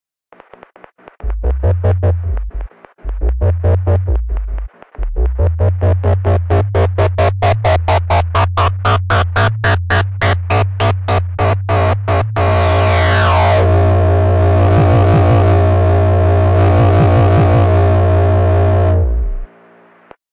1.2s sub oscillator 19.8s

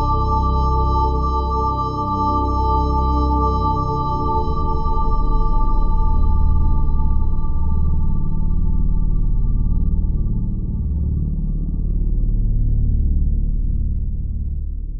0.0s low, evolving drone with a minor second motif 10.5s

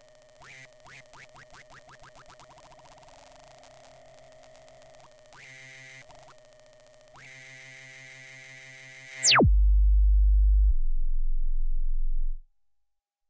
0.0s Oscillators 5.4s
6.0s Oscillators 7.2s

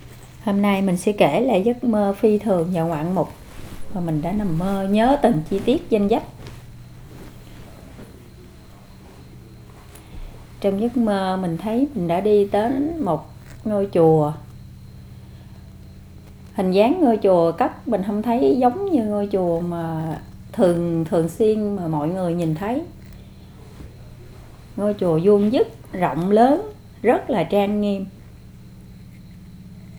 0.0s voice 6.6s
10.6s voice 14.5s
16.5s voice 23.1s
24.8s voice 28.2s

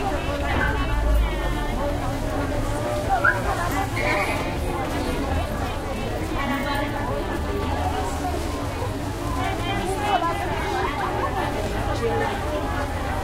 0.0s medium nearby traffic 13.2s
0.0s women repeating items selling 13.2s

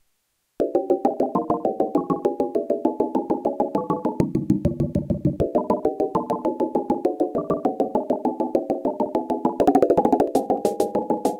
3.8s synth percussion 11.3s

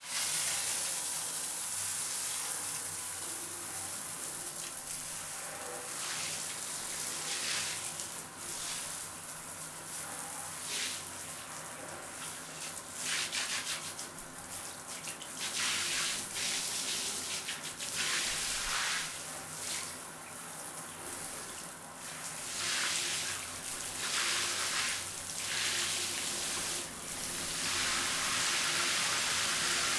0.0s Water 29.9s

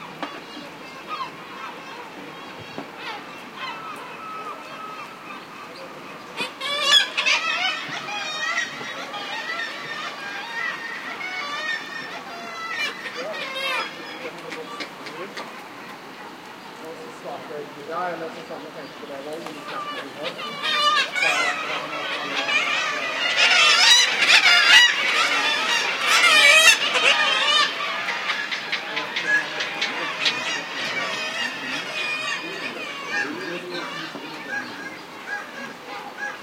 0.0s Harsh, shrill cry of seagulls 16.6s
0.0s Human voices 36.2s
0.0s ocean 36.4s
18.9s Harsh, shrill cry of seagulls 36.4s

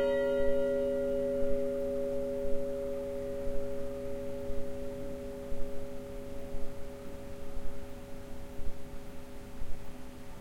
0.0s churchbells 9.4s

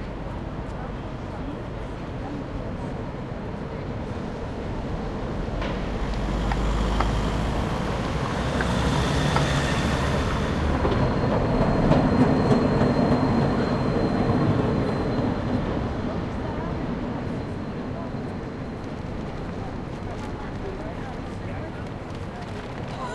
0.0s trams 23.1s
0.0s a few cars 12.6s

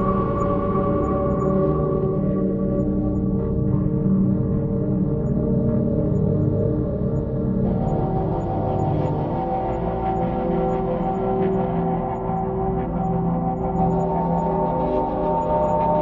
0.0s Drone 16.0s

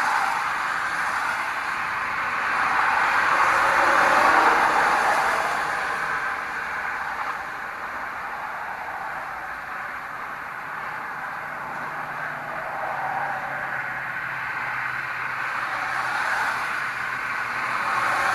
0.0s expressway after a rain 18.3s
0.0s trucks 18.3s

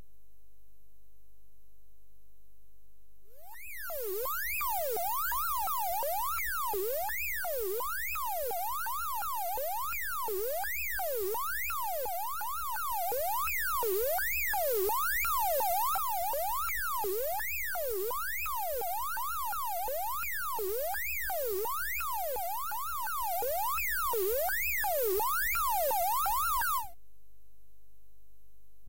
3.4s scifi alarm 26.9s

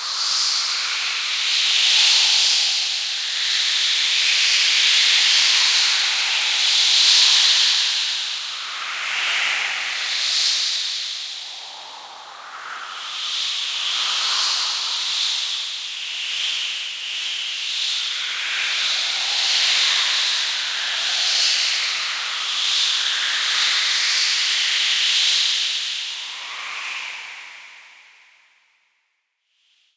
4.2s Dense wind noises 15.6s

